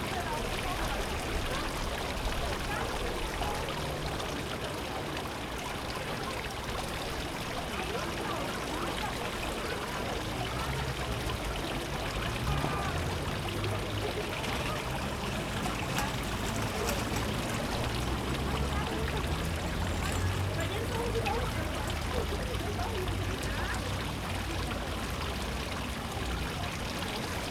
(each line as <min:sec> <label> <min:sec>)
0:00.0 fountain 0:27.5